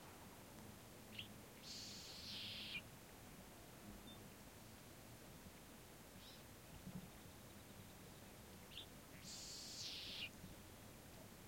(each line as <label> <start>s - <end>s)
birds 1.1s - 2.8s
insects 1.1s - 2.8s
birds 6.2s - 10.8s
insects 9.2s - 10.3s